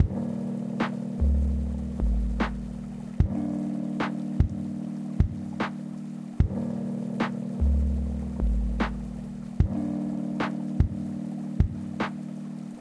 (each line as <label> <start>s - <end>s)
lofi beat 0.0s - 12.8s